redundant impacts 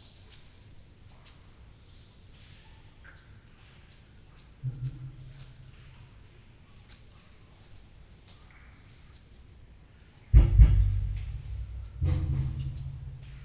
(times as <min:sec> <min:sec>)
0:10.3 0:13.4